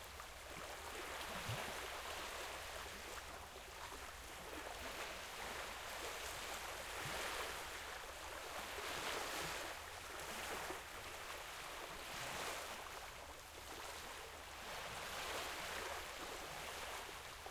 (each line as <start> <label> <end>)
0.0 Light Waves Water 17.5